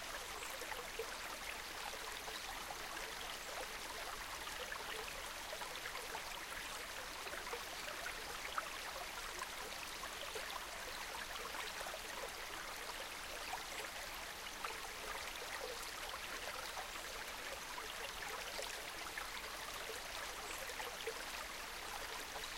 gentle stream 0.0 - 22.5

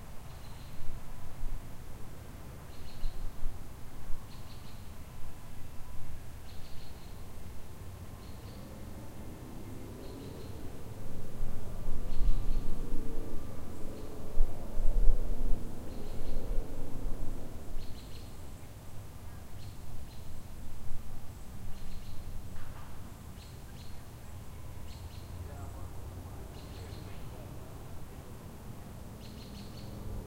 wind in the trees 0.0 - 30.2
birds 6.1 - 11.0
birds 15.7 - 20.6
birds 21.3 - 30.2

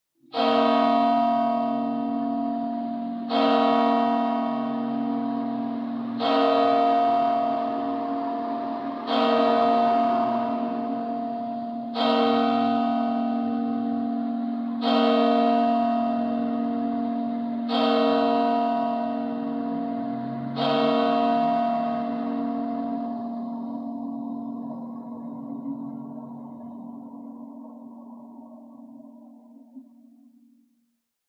bells 0.4 - 29.9

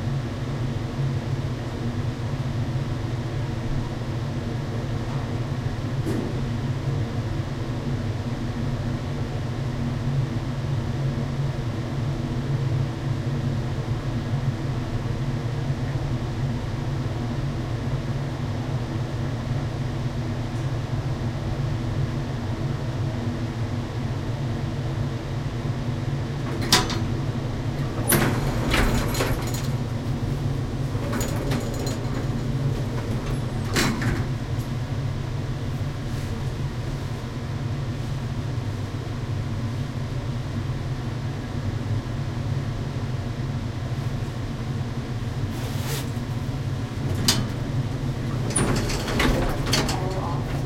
heavy ventilation 0.0 - 50.6
elevator ride 12.7 - 50.6
doors open close 26.4 - 34.9
doors open close 46.1 - 50.6

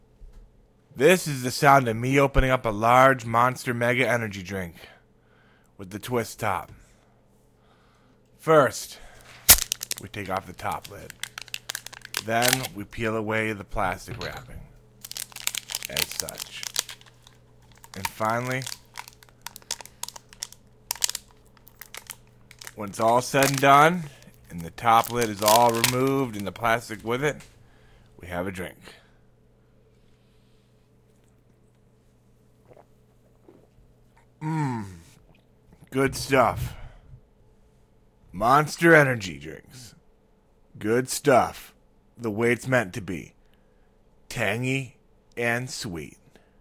Monster Mega Energy Drink being opened, with a twist top 9.5 - 12.7
Pouring a Monster Mega Energy Drink 9.5 - 12.7
me narrating 12.2 - 14.7
Monster Mega Energy Drink being opened, with a twist top 15.0 - 26.7
Pouring a Monster Mega Energy Drink 15.0 - 26.8
me narrating 15.8 - 16.8
me narrating 17.9 - 18.8
me narrating 22.7 - 27.4
Drinking 32.6 - 35.9
me narrating 35.8 - 37.0

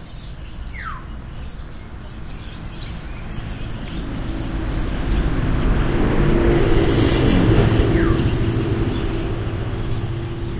birds 0.0 - 10.5

